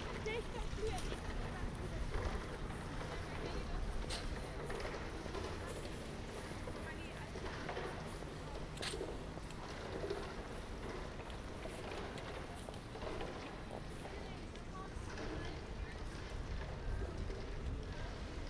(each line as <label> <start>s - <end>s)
pedestrians 0.0s - 18.4s